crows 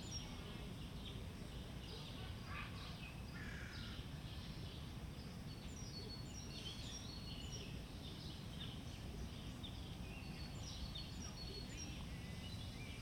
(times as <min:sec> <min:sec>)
0:02.5 0:04.0